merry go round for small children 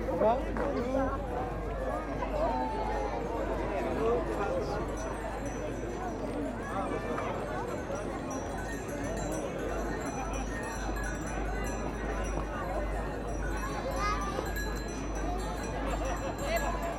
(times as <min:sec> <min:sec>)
0:04.2 0:16.9